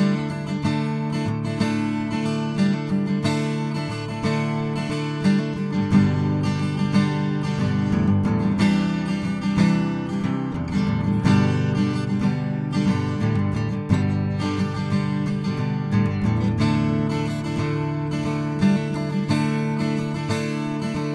guitar 0:00.0 - 0:21.1

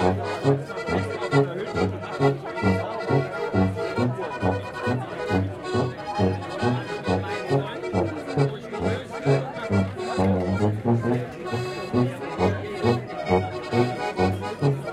brass tuba 0:00.0 - 0:14.8
People sitting in the backyard of a bar 0:00.0 - 0:14.9
akkordion 0:00.0 - 0:14.9

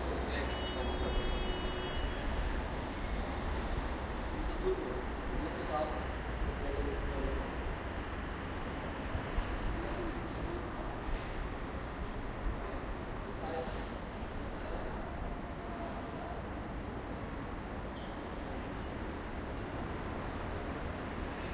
voices 0:00.0 - 0:02.2
Distant traffic 0:00.0 - 0:21.5

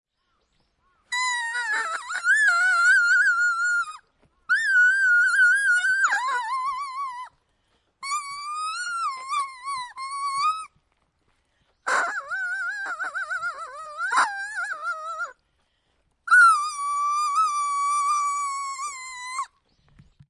leafwhistle 0:01.1 - 0:07.3
leafwhistle 0:08.0 - 0:10.7
leafwhistle 0:11.9 - 0:15.3
leafwhistle 0:16.3 - 0:19.6

